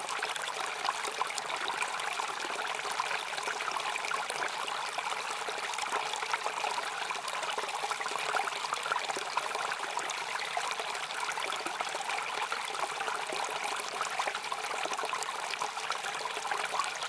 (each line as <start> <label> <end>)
0.0 Small stream 17.0